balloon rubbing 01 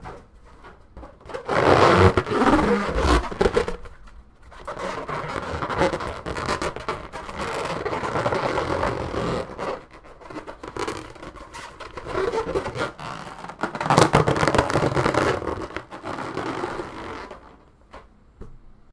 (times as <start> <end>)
1.4 3.9